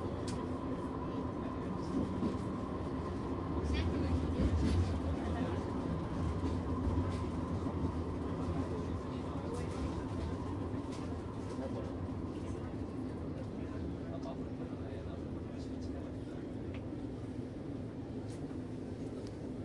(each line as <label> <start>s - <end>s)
Tram Ride 0.0s - 19.6s